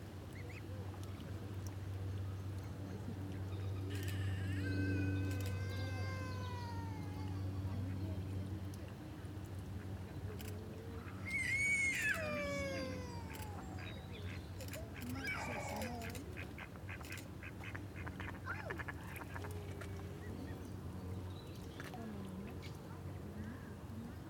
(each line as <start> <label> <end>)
2.6 The public welcoming the arrival of six beautiful cygnets 8.4
9.8 The public welcoming the arrival of six beautiful cygnets 17.2